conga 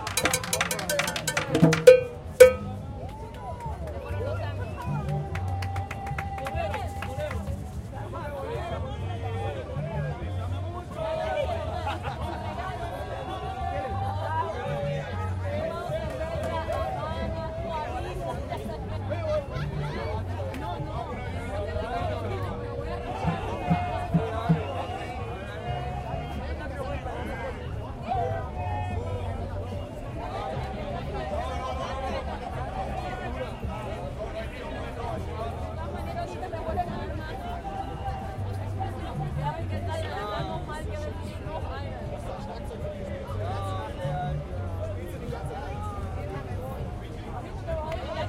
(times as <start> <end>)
0.0 3.2, 22.4 25.2